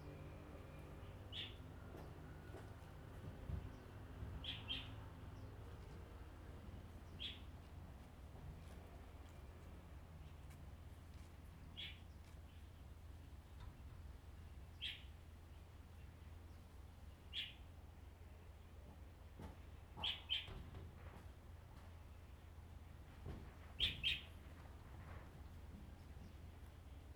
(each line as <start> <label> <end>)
3.7 Birds singing 5.6